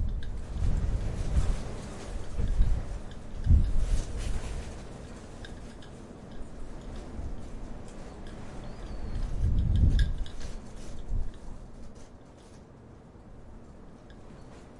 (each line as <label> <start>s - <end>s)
european windstorm 0.0s - 14.7s